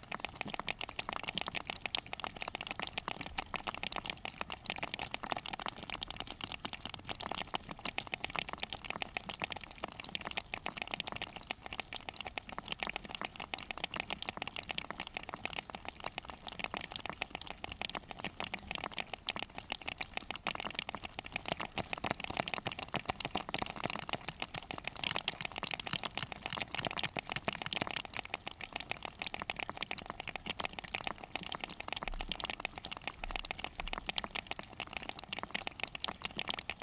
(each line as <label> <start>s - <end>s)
spider crabs 21.0s - 28.3s